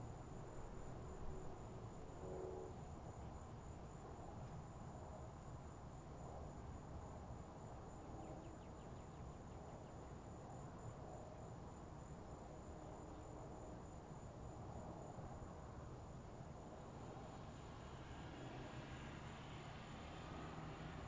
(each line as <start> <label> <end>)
17.2 rain 21.0